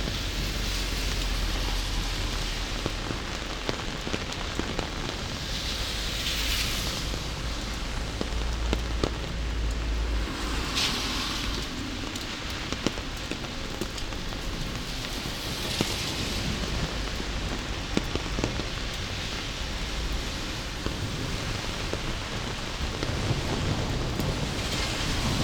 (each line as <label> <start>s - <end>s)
walking in the rain 0.0s - 25.4s